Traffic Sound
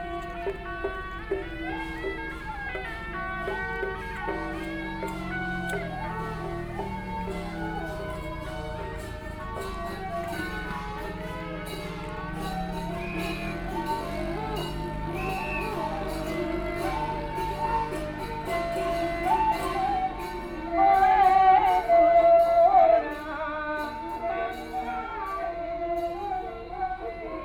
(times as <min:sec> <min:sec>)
0:00.0 0:20.6